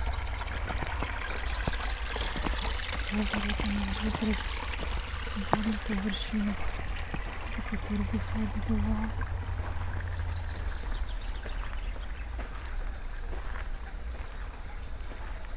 0.0s birds 15.5s
0.0s stream 15.5s
0.8s steps 15.5s
3.1s spoken words 4.5s
5.4s spoken words 6.7s
7.5s spoken words 9.2s

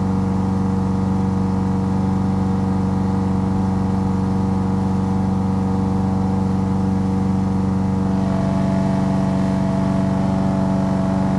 0.0s lawn-mower 11.3s

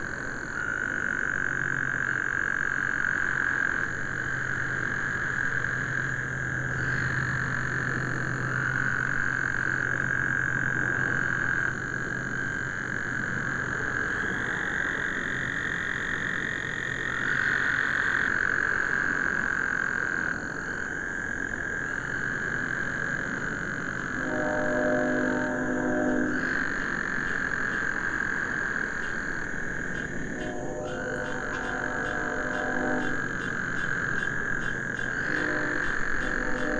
0.0s crickets 36.7s
0.0s mating calls of several species of frogs 36.7s
23.3s distant highway 36.7s
24.2s approaching passenger train 36.7s

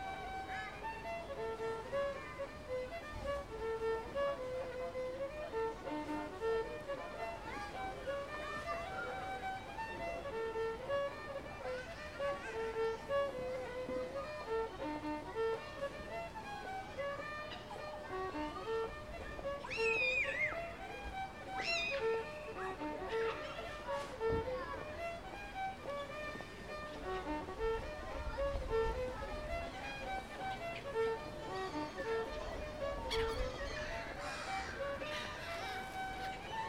9.4s passersby 36.6s
33.1s birds 36.6s

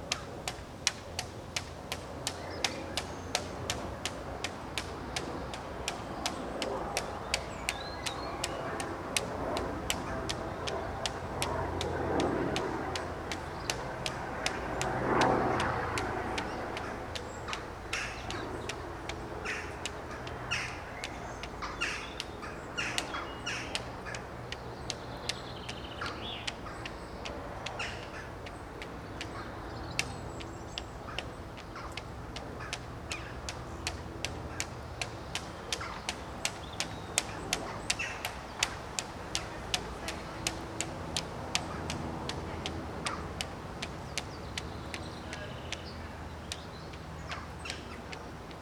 0.0s St George flag of England was fluttering 19.4s
0.0s Copper Beech was fluttering in the breeze 48.6s

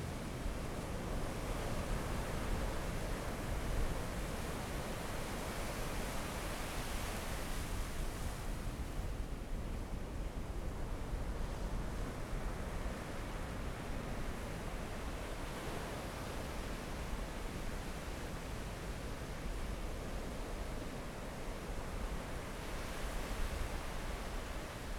0.0s waves 24.9s

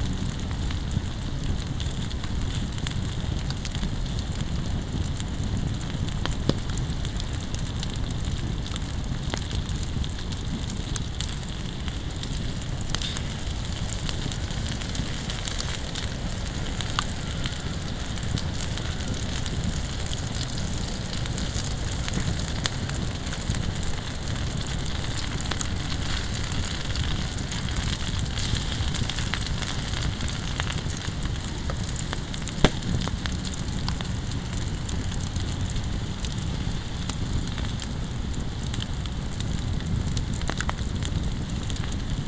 0.0s fireplace with some grill and food on it 42.2s

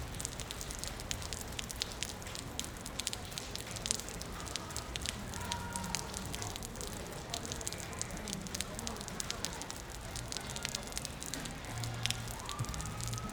0.0s car parks under the stream of water 13.3s
0.0s water dripping on the road 13.3s

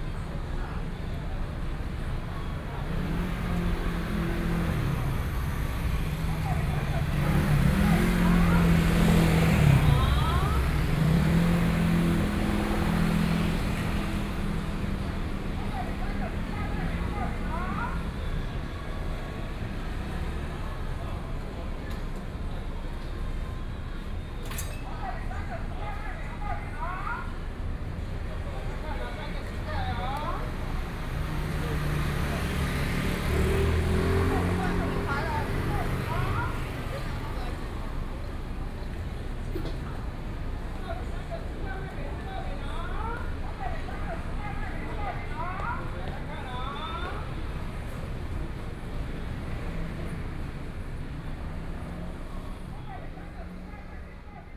0.0s Traffic noise 54.5s

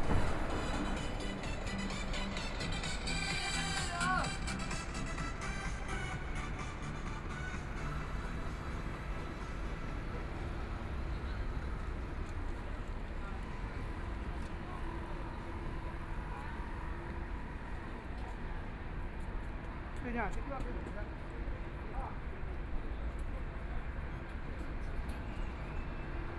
0.0s Footsteps 6.6s
0.0s Street crowd eating out 18.8s
0.0s Traffic Sound 26.3s

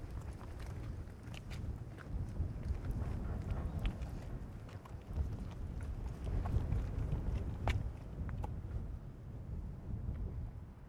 0.0s wind 10.8s

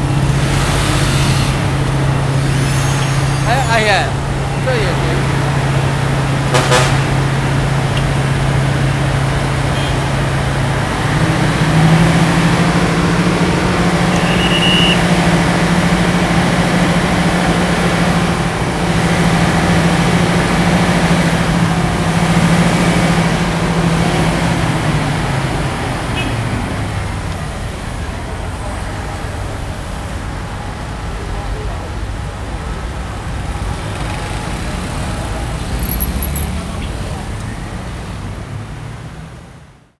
0.0s Road construction 39.9s

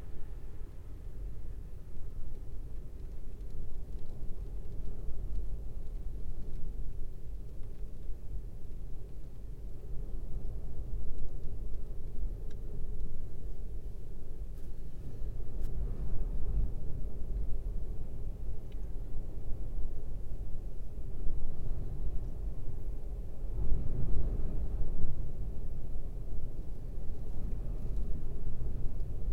0.0s wind buffeting the vehicle 29.3s
0.2s rain on windscreen 19.0s

